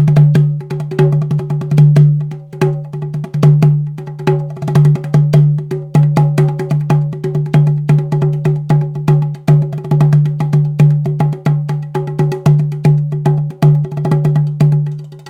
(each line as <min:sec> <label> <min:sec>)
0:00.0 Ceramic Djembe Jamming 0:15.2